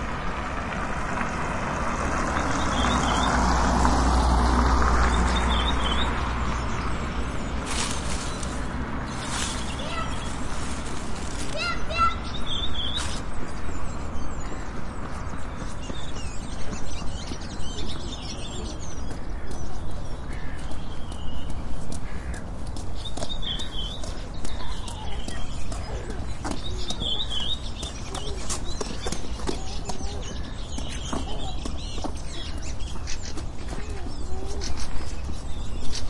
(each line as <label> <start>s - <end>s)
car passing by 0.0s - 11.6s
Birds singing 0.0s - 36.0s
small town noises 0.0s - 36.0s